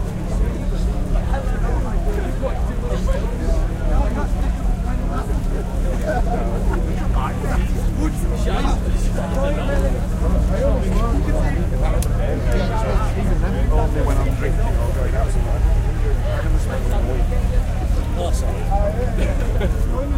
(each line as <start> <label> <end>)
0.0 Festival Crowd 20.1